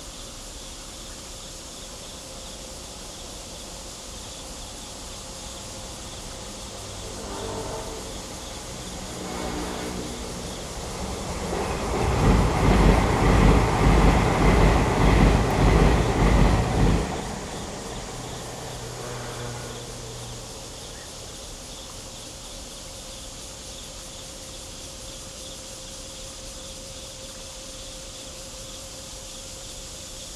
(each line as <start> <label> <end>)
0.0 Cicadas 30.3
2.4 The train passes by 22.4
3.5 factory noise in the distance 22.4
5.2 Traffic sound 21.6